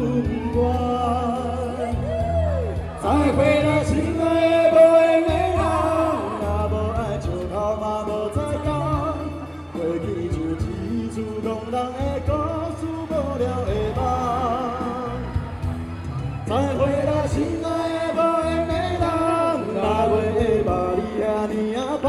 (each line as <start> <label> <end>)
0.0 Traffic Sound 22.0